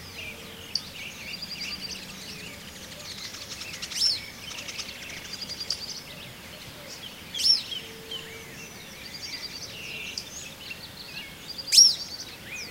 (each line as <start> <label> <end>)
0.0 Song and calls of birds 12.7
0.0 Waterfall noise in the background 12.7